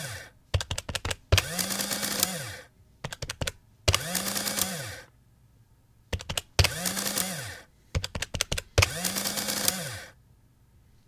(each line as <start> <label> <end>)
0.0 motor 0.3
0.6 typing into the adding machine 2.3
1.0 motor 2.7
3.0 typing into the adding machine 4.8
3.9 motor 5.1
6.1 typing into the adding machine 7.3
6.2 motor 7.7
8.0 typing into the adding machine 9.8
8.8 motor 10.2